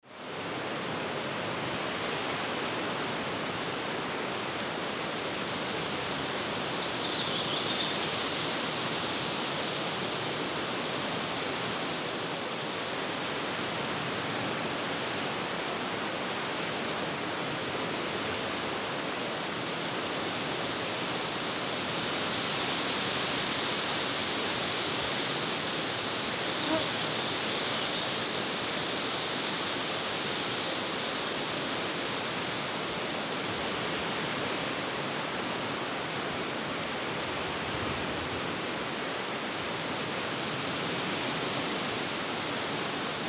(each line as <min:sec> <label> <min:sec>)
0:00.0 wind 0:43.2
0:00.6 birds 0:01.0
0:34.0 birds 0:34.8
0:38.1 birds 0:39.2